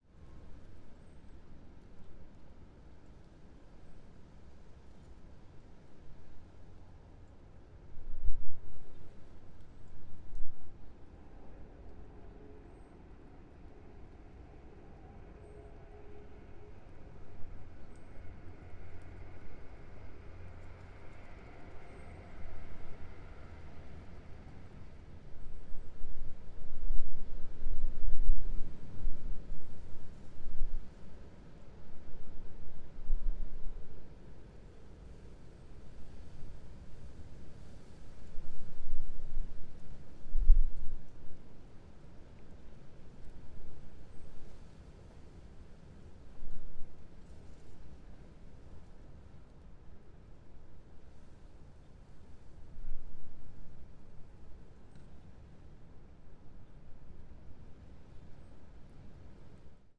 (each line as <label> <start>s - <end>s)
traffic 13.0s - 25.4s